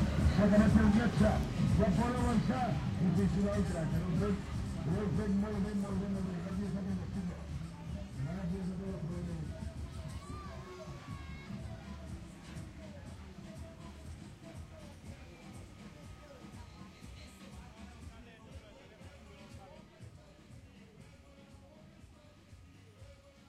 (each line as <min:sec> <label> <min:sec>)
0:00.0 crowd 0:23.4
0:00.0 music 0:23.4
0:09.6 child amusement rides 0:13.3